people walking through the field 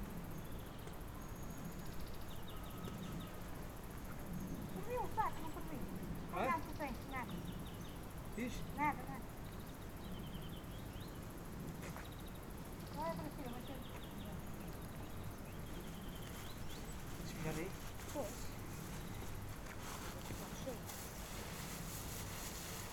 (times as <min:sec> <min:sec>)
0:11.5 0:22.9